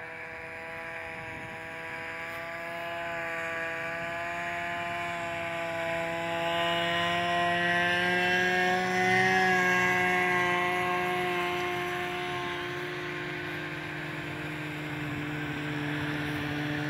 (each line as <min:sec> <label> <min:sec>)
0:00.0 snowmobiles pass by far 0:16.8